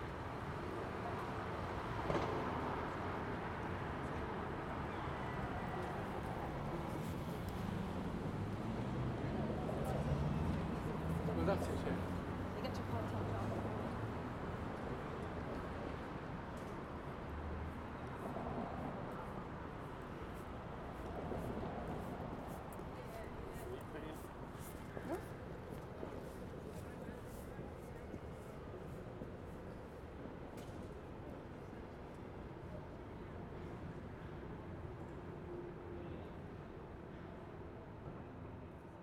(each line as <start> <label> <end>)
0.1 vehicles 36.6